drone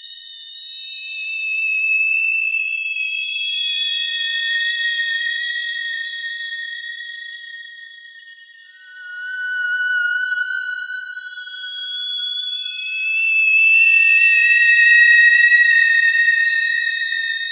8.8 17.5

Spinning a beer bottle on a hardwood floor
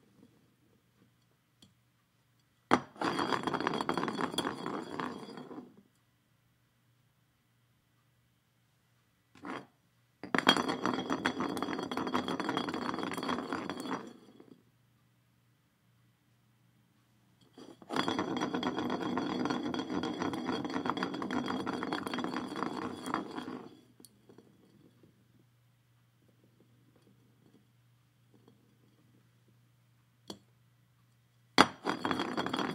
2.7 5.9, 9.3 14.7, 17.4 29.6, 31.6 32.7

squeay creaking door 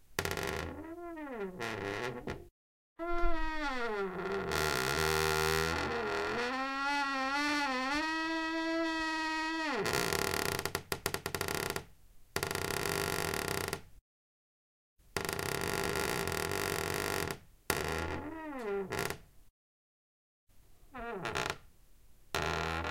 0.2 10.7, 15.2 19.2, 20.9 21.6, 22.4 22.9

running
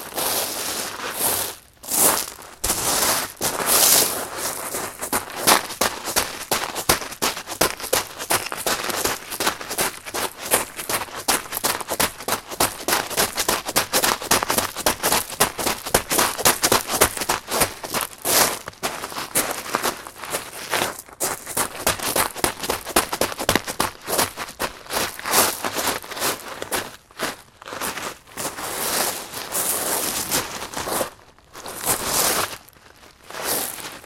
4.8 18.1, 21.4 24.6

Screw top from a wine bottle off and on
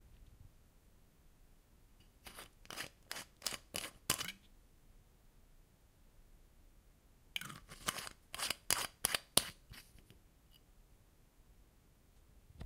2.7 4.4, 7.4 9.6

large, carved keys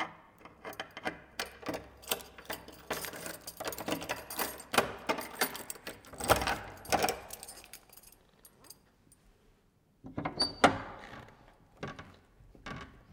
0.4 8.9

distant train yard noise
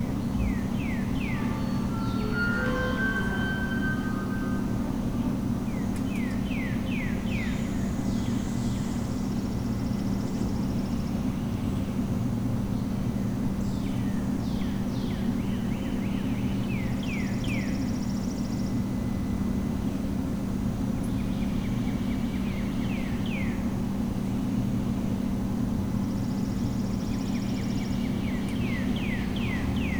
0.0 7.0

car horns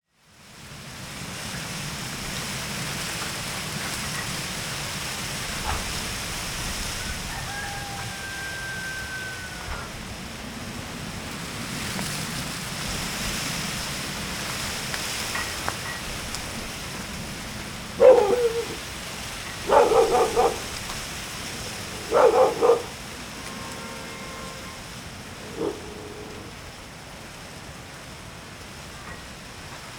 21.5 25.1

